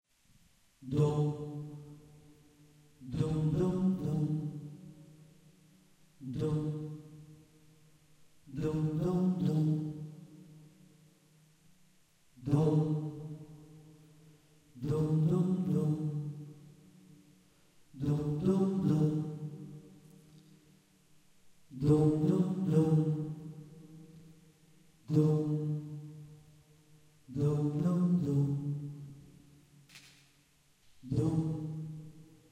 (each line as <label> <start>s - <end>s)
voice 0.8s - 1.5s
voice 3.0s - 4.5s
voice 6.2s - 6.9s
voice 8.5s - 10.0s
voice 12.4s - 13.0s
voice 14.8s - 16.2s
voice 18.0s - 19.4s
voice 21.8s - 23.2s
voice 25.1s - 25.7s
voice 27.3s - 28.7s
voice 31.0s - 31.7s